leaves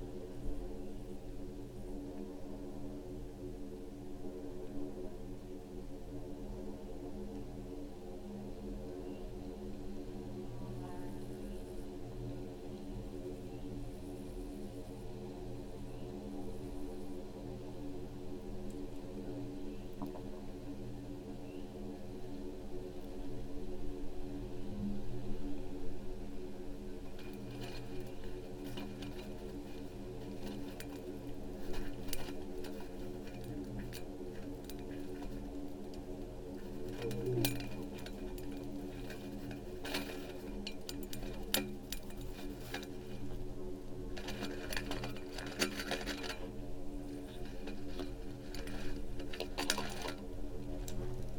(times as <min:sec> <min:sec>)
0:24.5 0:51.3